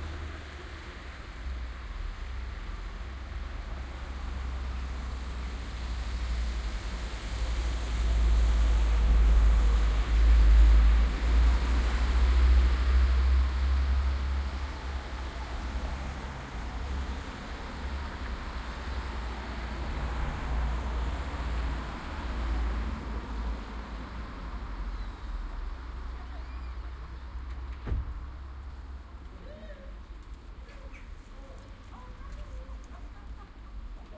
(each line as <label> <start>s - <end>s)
cars 0.0s - 34.1s
people walking by 26.0s - 34.1s